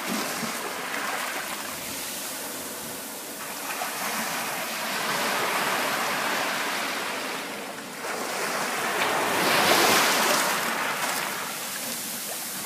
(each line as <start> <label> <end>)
0.0 waves washing up on the beach 12.6
0.0 waves were hitting 12.6